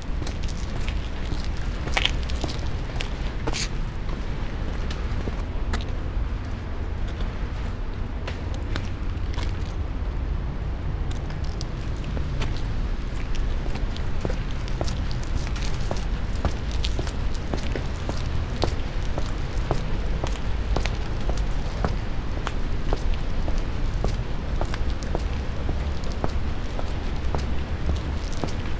tarpaulin 0.0 - 5.9
walking 0.0 - 6.0
tarpaulin 7.5 - 28.7
walking 11.1 - 28.7

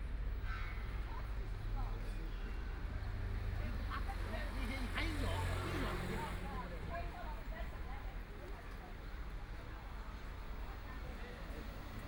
Walking on the street 0.0 - 12.0

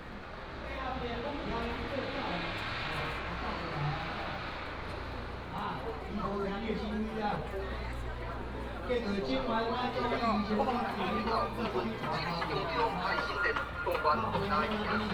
Walking through the alley 0.0 - 15.1

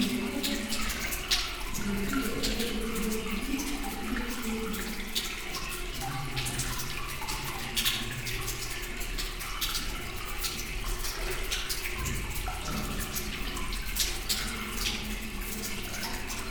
water flowing into a 130 meters deep pit 0.0 - 16.5

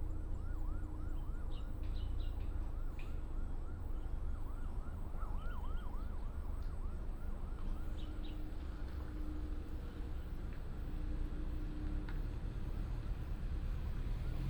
traffic sound 8.5 - 14.4

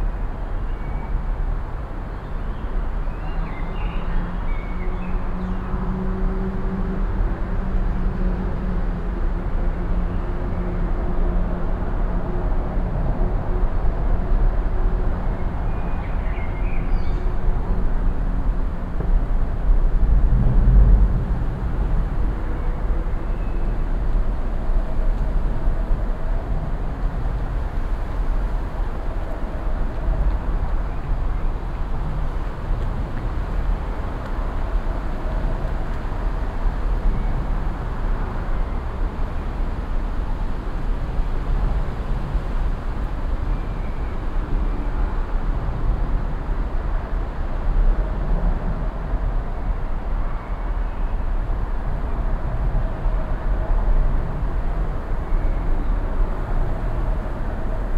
traffic 0.0 - 57.9
wind in the trees 0.0 - 57.9

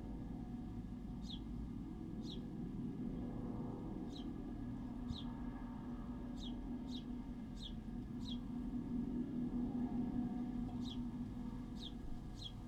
distant combine harvesters 0.0 - 12.6
flock of starlings arrive in an adjacent hedge 10.8 - 12.6
house sparrow 11.7 - 12.6

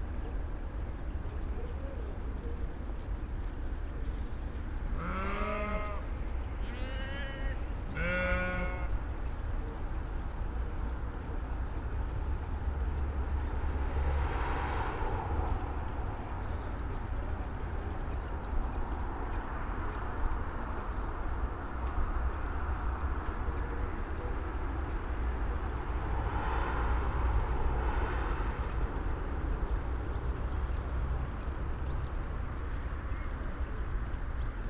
bleating 5.0 - 6.0
bleating 6.6 - 8.9

